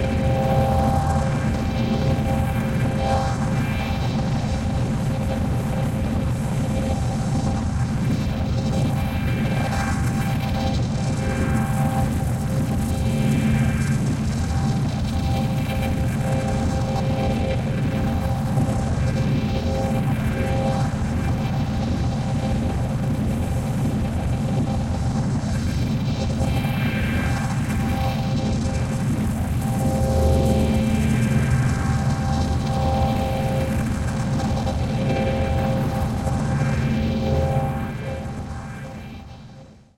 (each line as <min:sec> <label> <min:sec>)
0:00.0 ambient droning noisescape 0:39.9